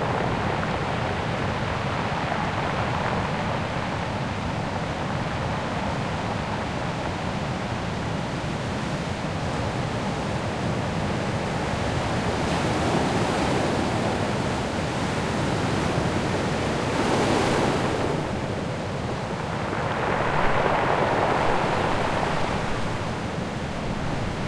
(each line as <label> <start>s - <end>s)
sea 0.0s - 24.4s
foam 16.8s - 24.4s